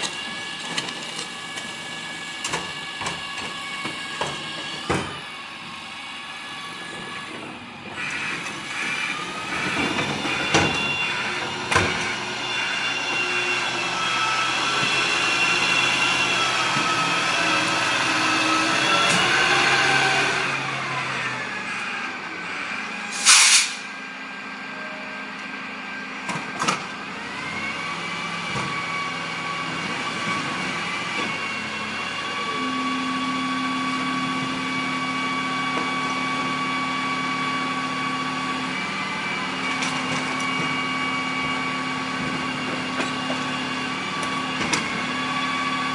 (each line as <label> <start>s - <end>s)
rubbish collection lorry 0.0s - 45.9s
air brakes 23.1s - 23.9s